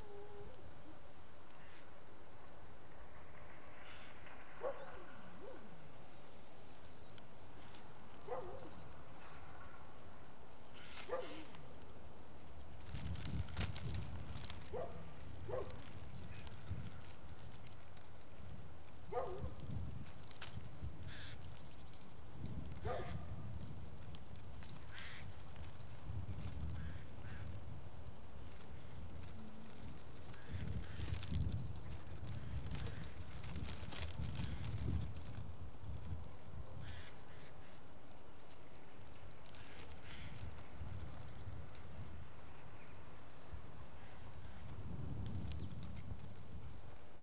12.6s piece of plastic attached to the fence, fluttering in the wind 37.0s
38.8s piece of plastic attached to the fence, fluttering in the wind 42.9s
43.5s piece of plastic attached to the fence, fluttering in the wind 47.2s

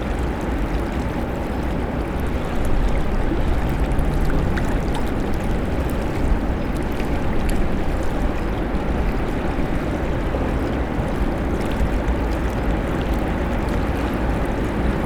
0.0s autos 15.0s

